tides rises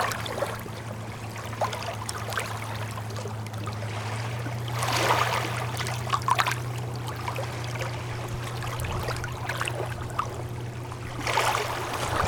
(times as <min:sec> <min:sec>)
0:03.3 0:12.2